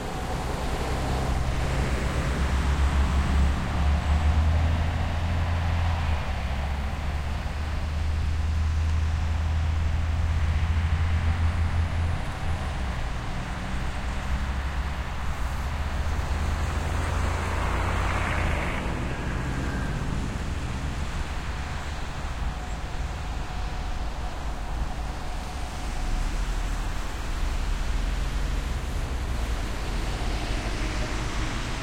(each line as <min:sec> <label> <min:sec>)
0:00.0 Busses arriving and departing 0:31.8
0:00.0 more distant traffic 0:31.8